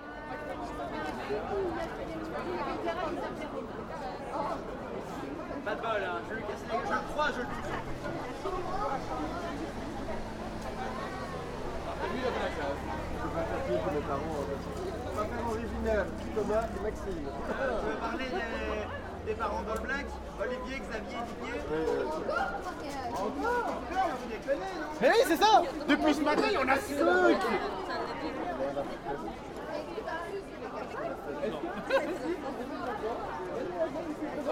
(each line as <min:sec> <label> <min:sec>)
0:05.0 drukte op straat 0:29.8